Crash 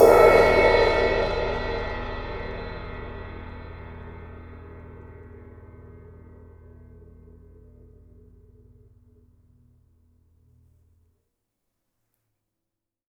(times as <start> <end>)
0.0 4.5